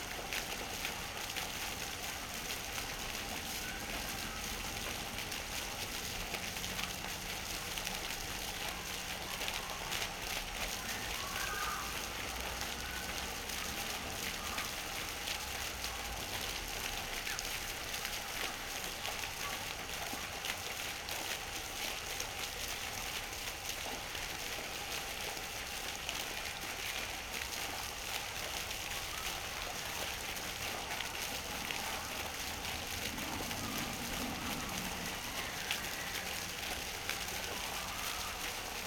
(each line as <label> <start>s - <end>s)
fountain 0.0s - 38.8s